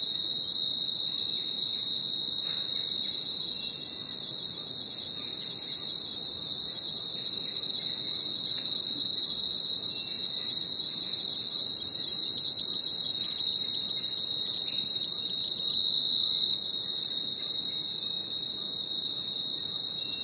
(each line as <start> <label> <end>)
0.0 wind 20.2